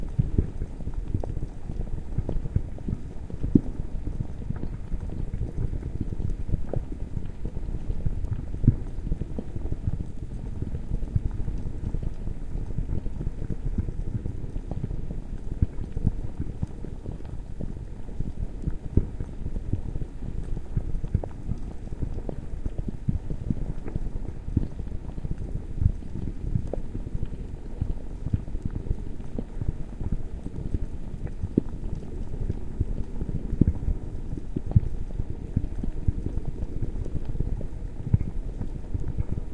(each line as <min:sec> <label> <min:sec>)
0:00.1 bubbling 0:39.5